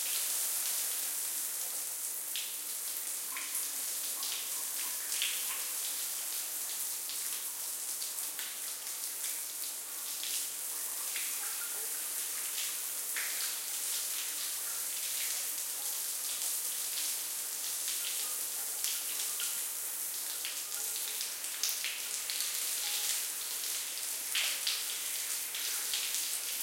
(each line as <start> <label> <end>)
0.0 taking a real shower with ceiling height rain shower head 26.6